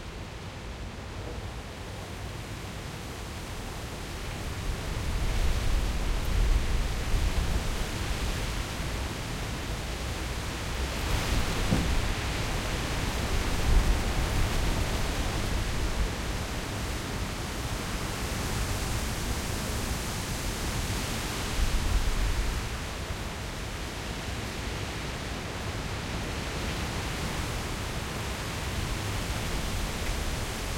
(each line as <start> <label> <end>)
0.0 strong wind 30.7